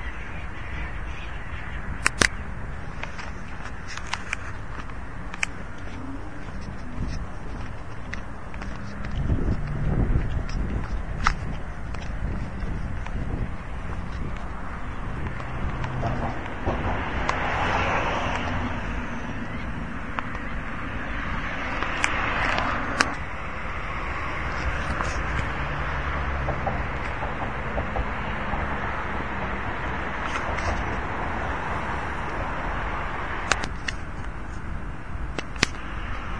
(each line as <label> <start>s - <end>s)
cars on the bridge behind me 0.0s - 36.3s
seagulls under the bridge 0.0s - 36.3s